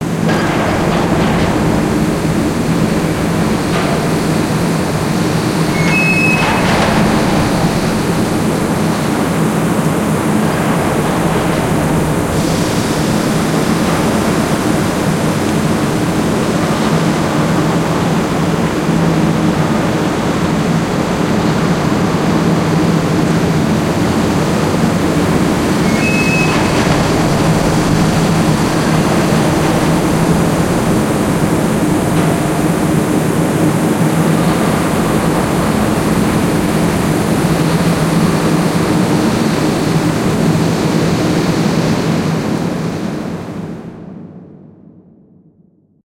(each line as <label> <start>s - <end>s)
rushing water 0.0s - 43.3s
sinking ocean liner 0.0s - 44.8s